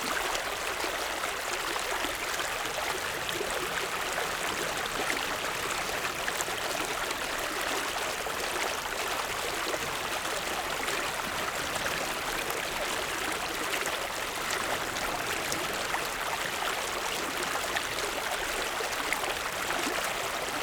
0.0s Stream sound 20.6s
2.8s waves 20.6s

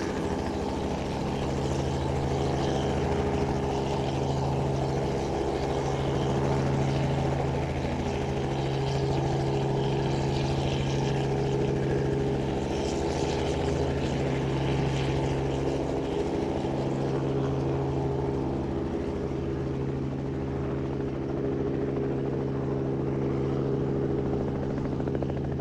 0.0s Helicopter preparing for takeoff and then taking off 25.6s

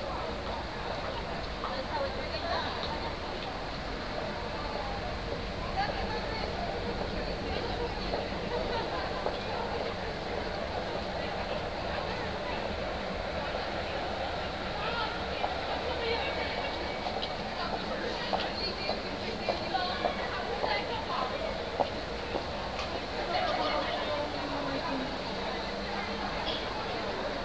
0.0s Students 27.4s

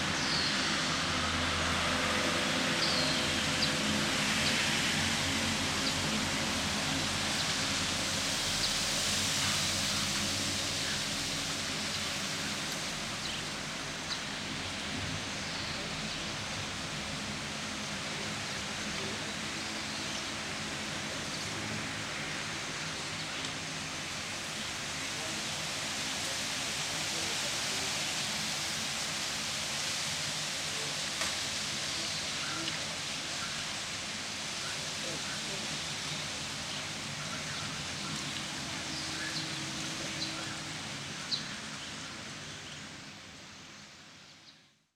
0.0s wind 44.9s
34.6s birds 44.7s

